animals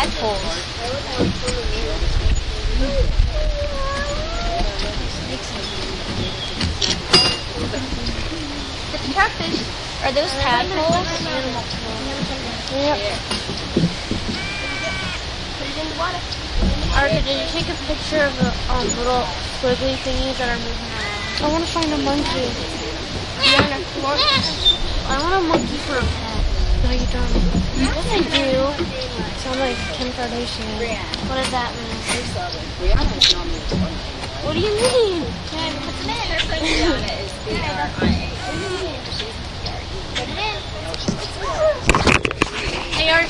0:00.0 0:12.4, 0:13.0 0:19.4, 0:20.5 0:31.2

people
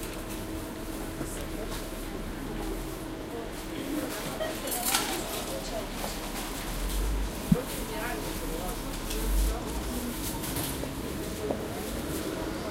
0:02.3 0:06.8

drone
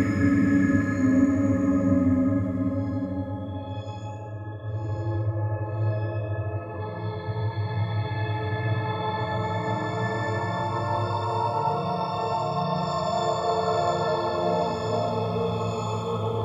0:00.0 0:05.0

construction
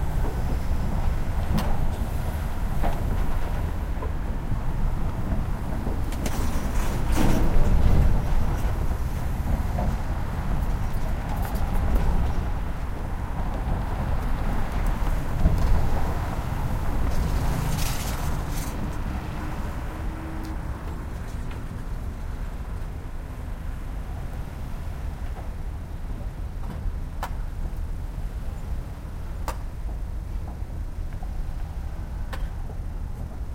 0:00.1 0:23.1

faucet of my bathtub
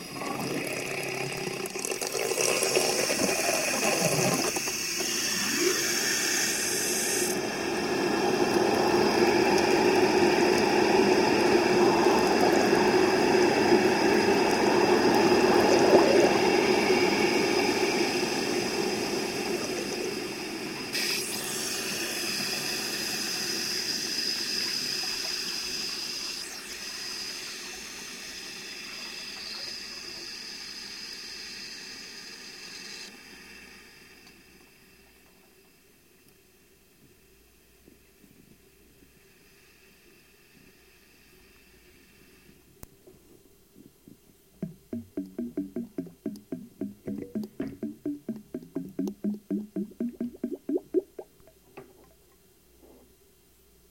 0:00.0 0:31.0, 0:44.6 0:52.3

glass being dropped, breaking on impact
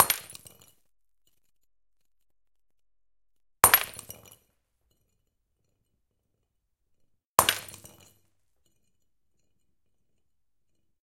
0:00.0 0:00.8, 0:03.6 0:04.6, 0:07.4 0:08.4

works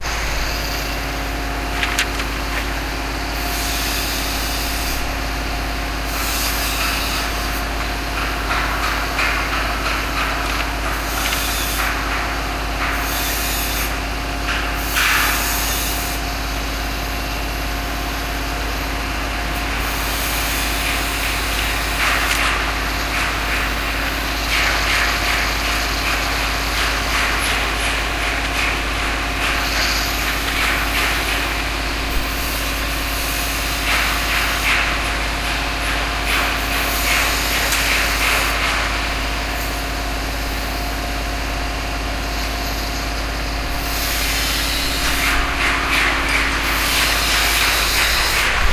0:43.9 0:48.7

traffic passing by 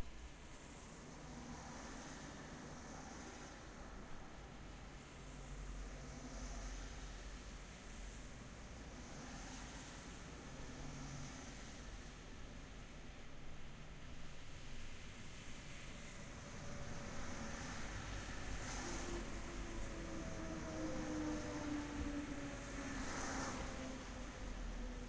0:16.4 0:25.0

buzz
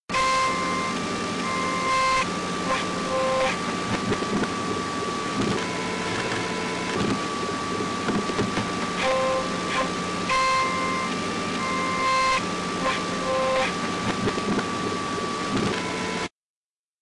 0:00.1 0:03.6, 0:09.0 0:13.8

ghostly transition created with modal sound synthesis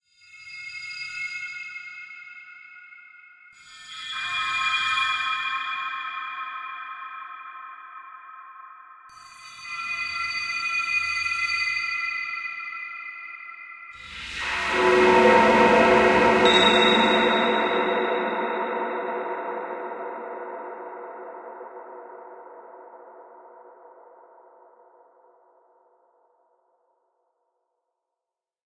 0:14.0 0:22.2

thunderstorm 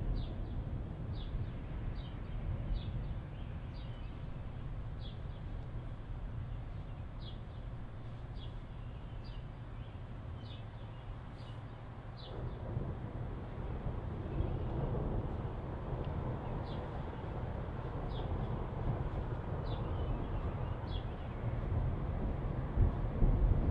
0:00.0 0:06.0, 0:12.0 0:23.7

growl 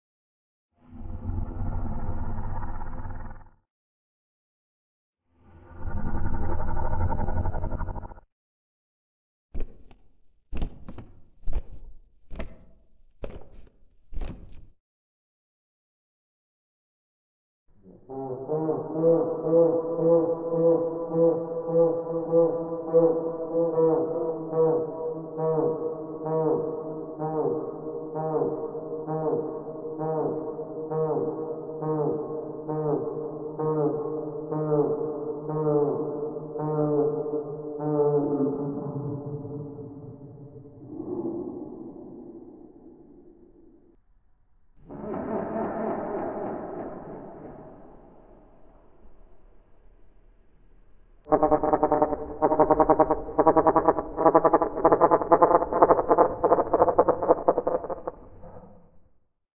0:00.8 0:03.6, 0:05.4 0:08.2

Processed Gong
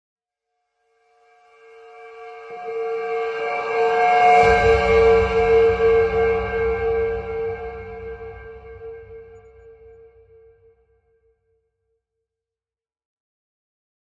0:01.4 0:10.6

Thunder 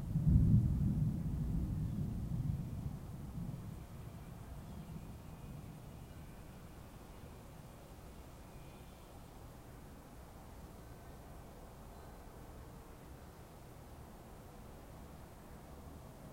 0:00.0 0:05.8

